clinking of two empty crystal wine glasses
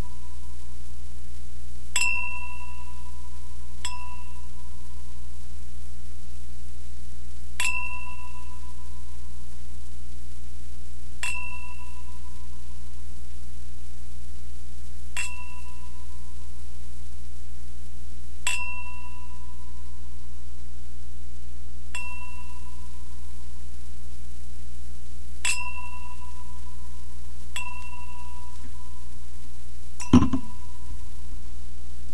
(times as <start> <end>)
2.0 2.4, 7.6 8.2